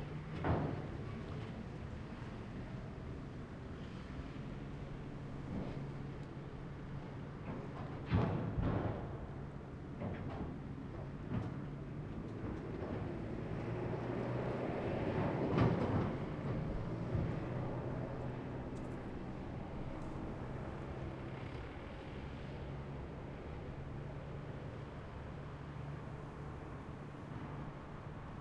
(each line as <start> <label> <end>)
0.0 ferry crossing a river 10.0
10.6 ferry crossing a river 28.4